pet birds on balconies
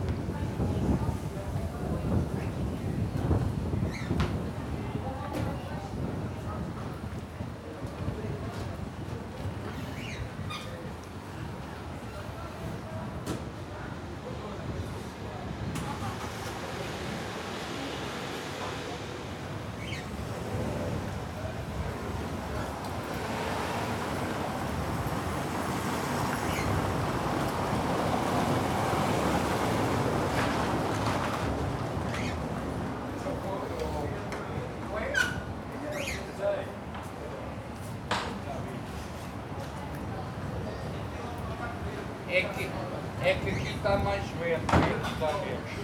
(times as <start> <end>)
19.8 20.1